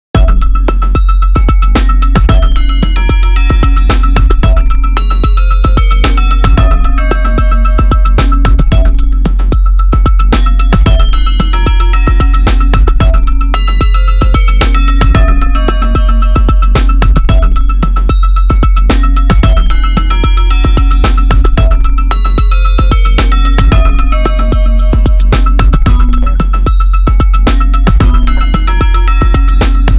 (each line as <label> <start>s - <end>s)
bass 0.0s - 29.9s
drums 0.2s - 29.9s